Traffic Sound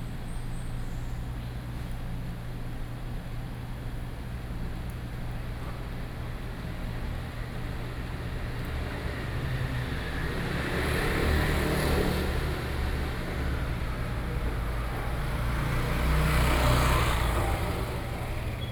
8.0 18.7

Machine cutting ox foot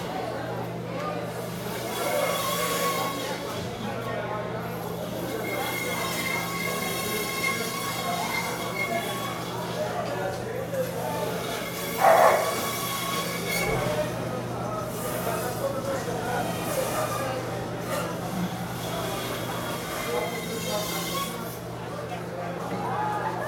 11.2 14.2

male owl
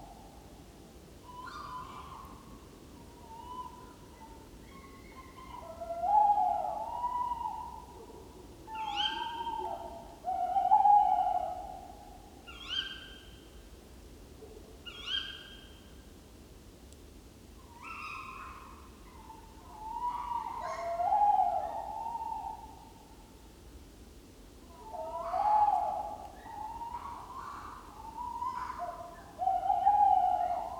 24.8 30.7

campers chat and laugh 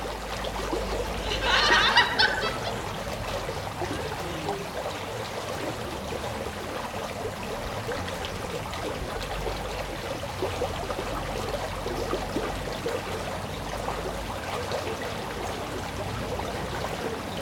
1.1 6.9

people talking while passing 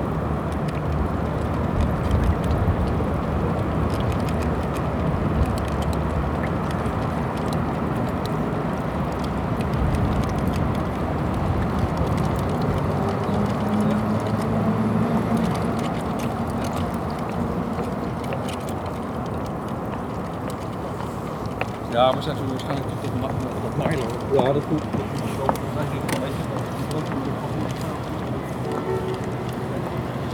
11.6 15.7, 20.8 30.3

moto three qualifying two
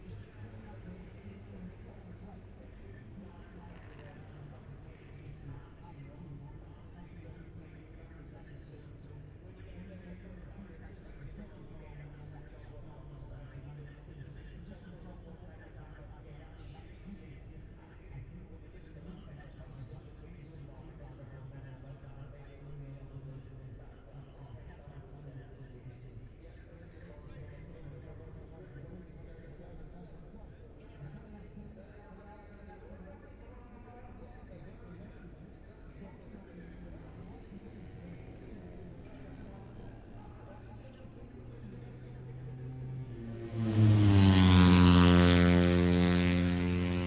34.1 47.0

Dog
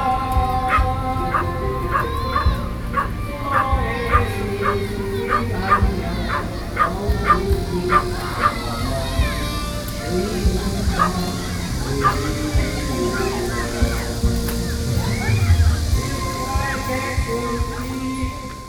0.6 8.6

